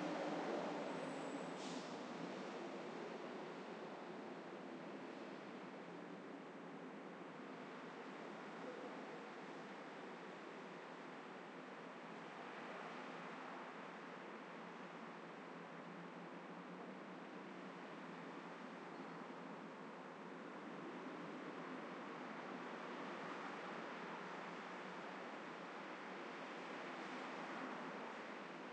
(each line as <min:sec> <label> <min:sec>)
0:00.0 traffic 0:28.7